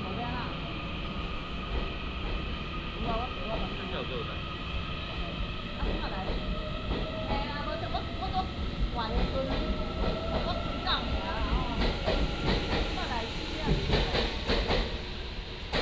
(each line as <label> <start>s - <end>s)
train leaves the station 0.0s - 15.8s
Station broadcasting 3.0s - 14.7s